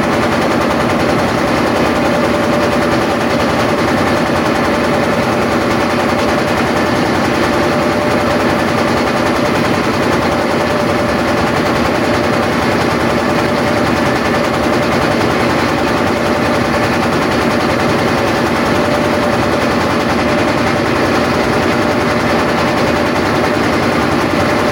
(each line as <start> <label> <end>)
0.0 small motor boat 24.7